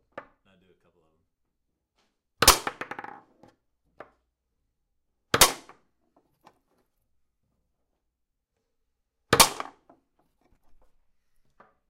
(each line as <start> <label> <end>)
9.3 forceful smack of a foosball against the piece of wood 9.9